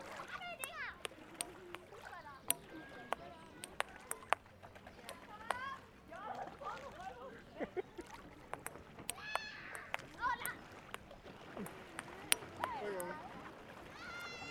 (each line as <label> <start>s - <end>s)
Tischtennis 0.6s - 5.7s
Tischtennis 8.4s - 13.2s